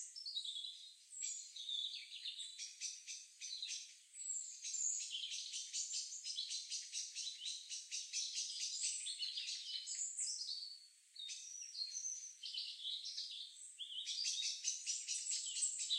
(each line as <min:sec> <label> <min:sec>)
0:00.0 Bird sounds in the trees above 0:15.9